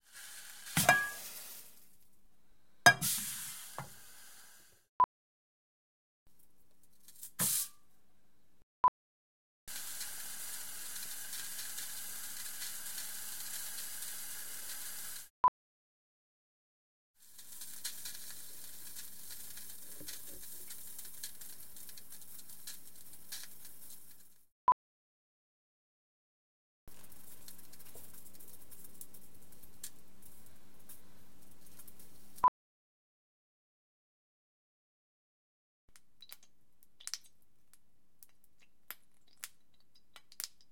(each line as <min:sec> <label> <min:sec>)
0:00.0 Hot oil in pan 0:02.0
0:02.9 Hot oil in pan 0:04.8
0:07.2 Hot oil in pan 0:07.8
0:09.7 Hot oil in pan 0:15.3
0:17.2 Hot oil in pan 0:24.5
0:26.9 Hot oil in pan 0:32.4
0:36.0 Hot oil in pan 0:37.4
0:38.2 Hot oil in pan 0:40.7